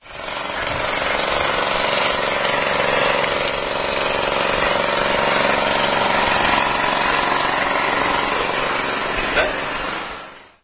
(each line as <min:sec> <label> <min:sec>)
0:00.0 low-voltage generator 0:10.6